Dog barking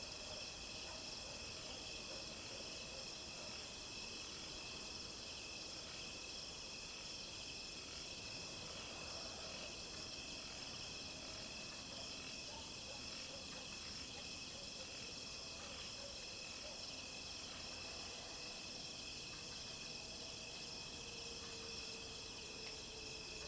0:00.9 0:01.4, 0:12.5 0:13.6

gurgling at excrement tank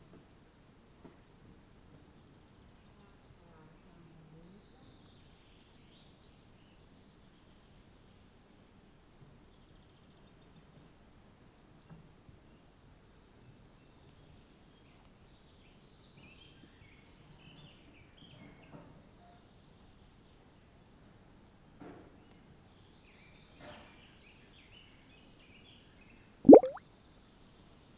0:26.5 0:26.8

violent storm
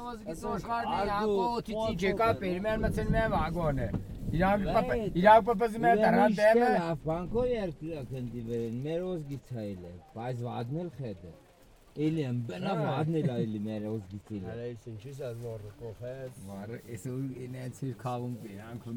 0:01.8 0:05.8

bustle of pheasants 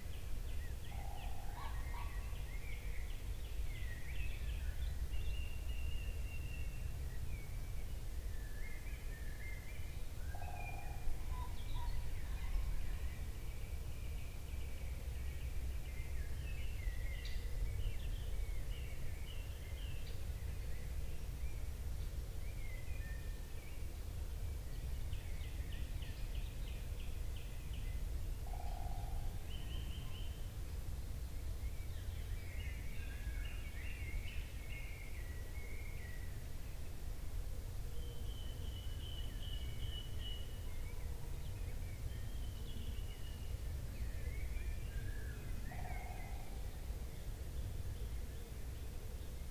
0:00.9 0:02.5

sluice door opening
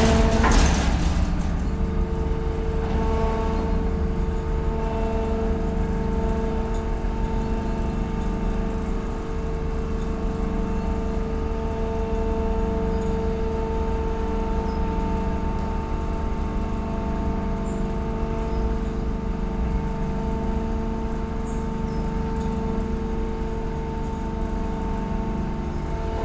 0:00.0 0:02.6

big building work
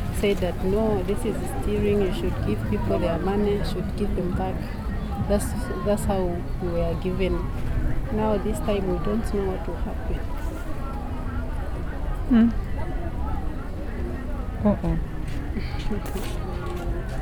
0:14.7 0:17.2

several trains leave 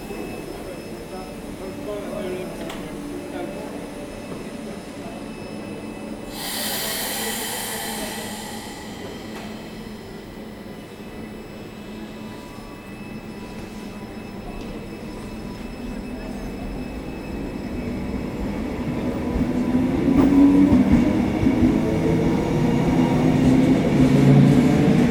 0:06.3 0:12.9

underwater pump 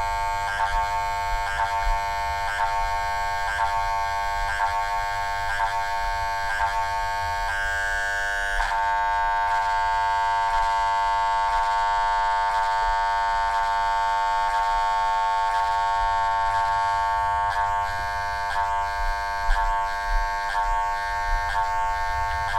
0:14.6 0:22.5

